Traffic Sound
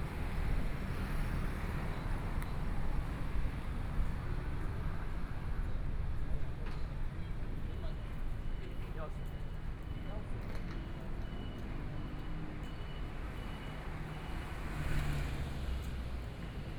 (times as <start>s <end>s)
11.6s 16.7s